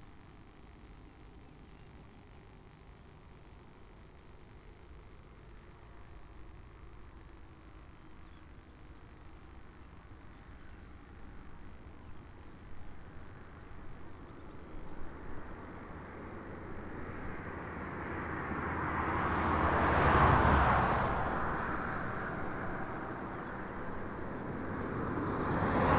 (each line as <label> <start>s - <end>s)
traffic on the road 9.3s - 25.9s